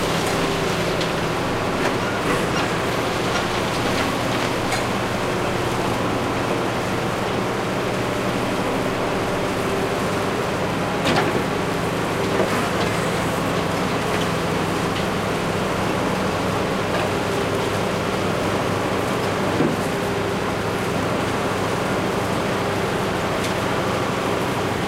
truck 0.0 - 24.8

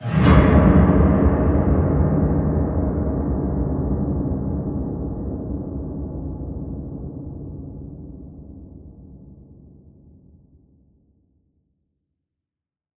Slide Down Bass Strings 0.0 - 3.4

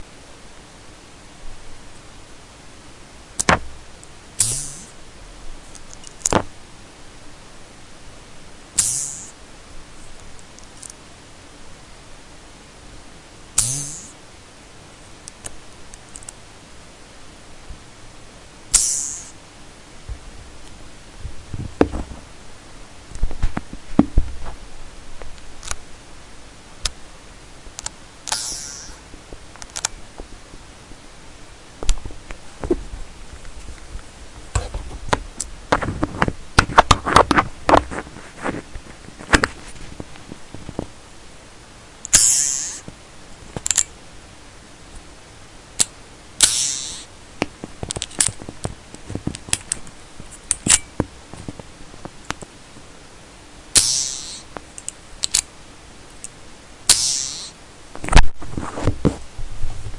background noise 0.0 - 59.9
metal butterfly screw on my stative 4.4 - 4.9
metal butterfly screw on my stative 8.8 - 9.3
metal butterfly screw on my stative 13.6 - 14.1
metal butterfly screw on my stative 18.7 - 19.4
metal butterfly screw on my stative 27.8 - 29.0
metal butterfly screw on my stative 42.0 - 42.9
metal butterfly screw on my stative 43.6 - 43.9
metal butterfly screw on my stative 45.8 - 47.1
metal butterfly screw on my stative 50.5 - 50.9
metal butterfly screw on my stative 53.8 - 55.5
metal butterfly screw on my stative 56.9 - 57.6

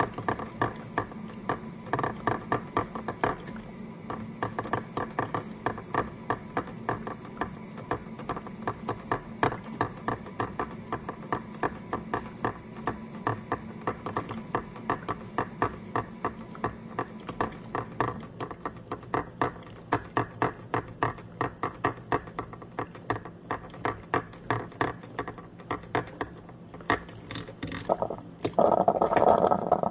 Coffee brewing in my old coffee pot 0.0 - 29.9

